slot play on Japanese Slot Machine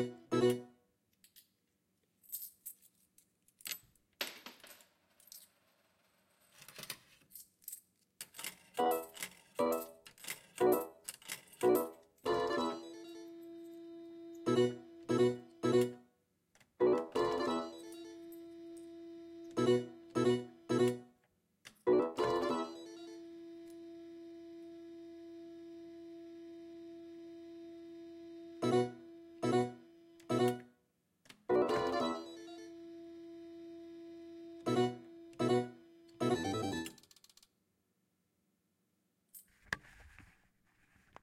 0.0 0.7, 8.8 10.9, 11.6 13.7, 14.4 16.0, 16.8 18.5, 19.5 21.0, 21.9 23.4, 28.6 30.7, 31.5 32.8, 34.6 37.1

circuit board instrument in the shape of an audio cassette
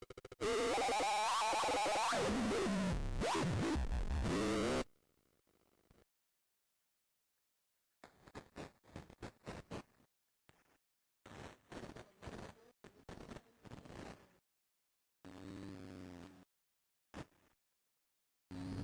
0.0 6.0, 8.0 14.3

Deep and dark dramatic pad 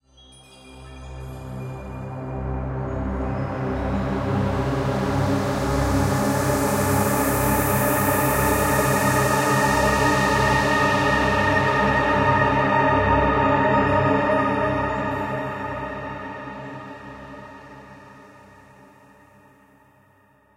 2.5 18.3

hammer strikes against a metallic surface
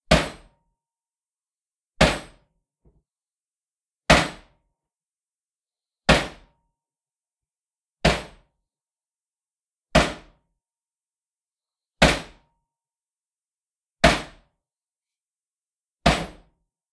0.1 0.6, 2.0 2.5, 4.1 4.6, 6.1 6.6, 8.0 8.5, 10.0 10.4, 12.0 12.5, 14.0 14.5, 16.0 16.5

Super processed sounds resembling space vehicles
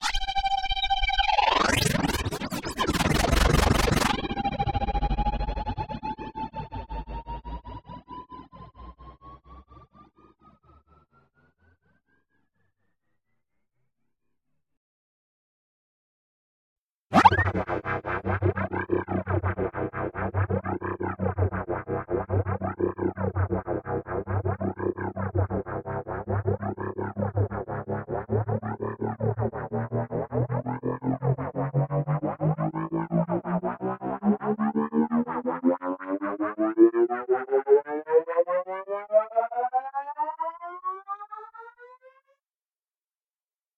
1.1 10.9, 17.1 41.8

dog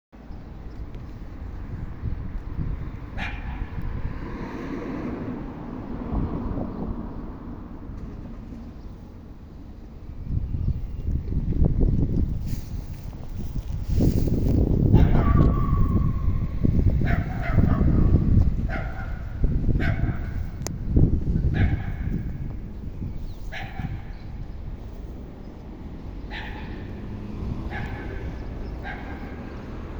3.2 3.7, 15.0 16.2, 17.0 20.3, 23.5 24.2, 26.3 26.9, 27.7 29.5

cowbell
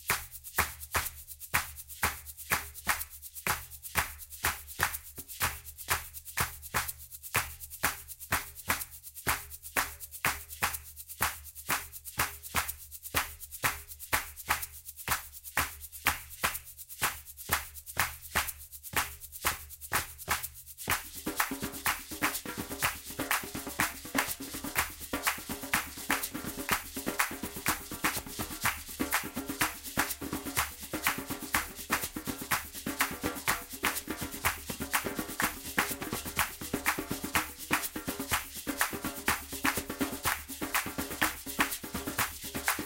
20.9 42.8

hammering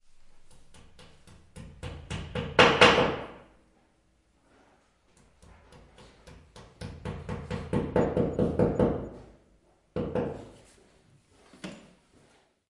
0.4 3.4, 5.1 9.4, 10.0 10.5

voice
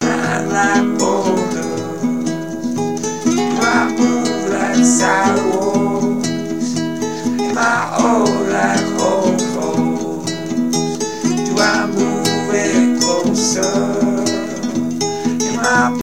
0.0 2.1, 3.3 6.8, 7.4 10.4, 11.3 14.8, 15.5 16.0

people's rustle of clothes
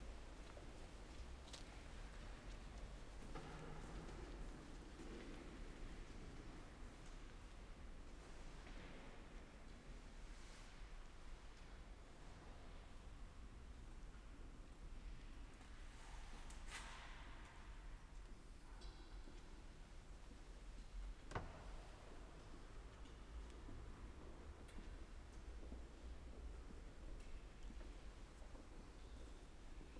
0.0 12.9, 19.2 29.9

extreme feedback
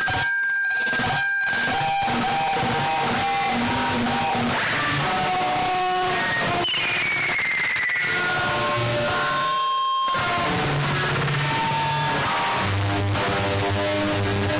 5.3 12.5

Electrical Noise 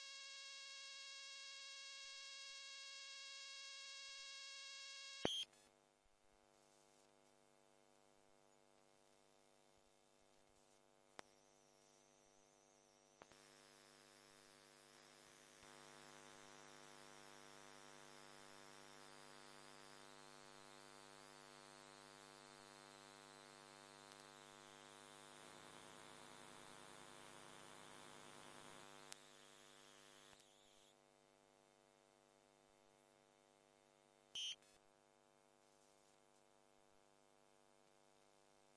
11.2 30.8

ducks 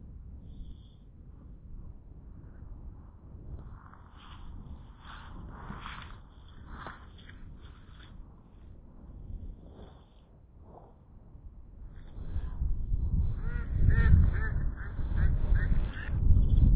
13.3 16.2

